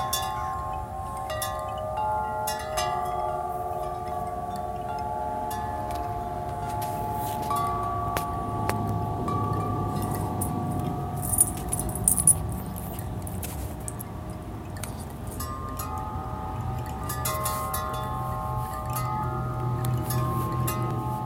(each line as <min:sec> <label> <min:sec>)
0:00.0 Windchimes 0:21.2